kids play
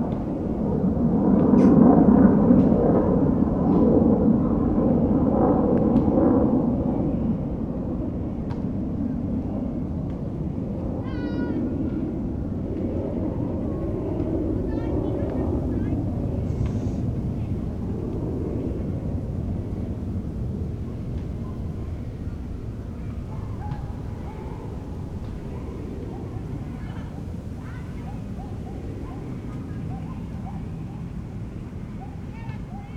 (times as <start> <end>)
10.8 32.9